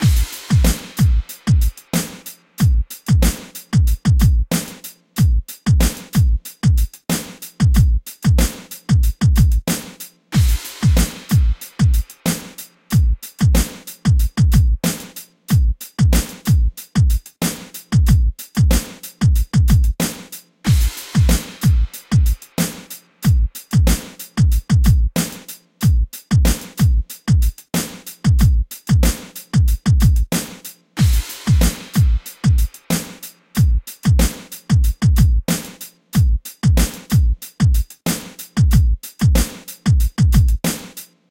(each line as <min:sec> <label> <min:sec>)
0:00.0 hip hop drum loop 0:41.3